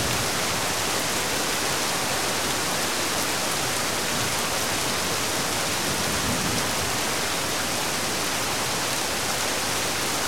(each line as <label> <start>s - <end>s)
Heavy Rain 0.0s - 10.2s
wind 0.0s - 10.2s